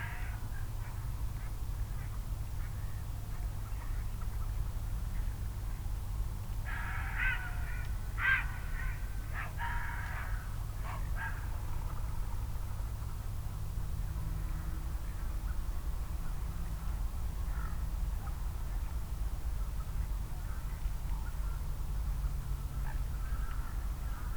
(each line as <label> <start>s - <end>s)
wild geese 0.0s - 4.1s
ducks 6.7s - 12.0s
wild geese 6.7s - 12.0s